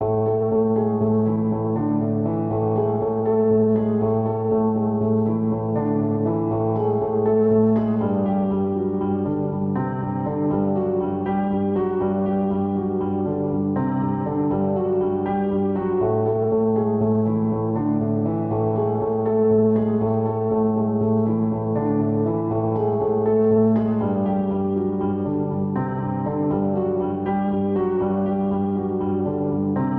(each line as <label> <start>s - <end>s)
piano 0.0s - 29.9s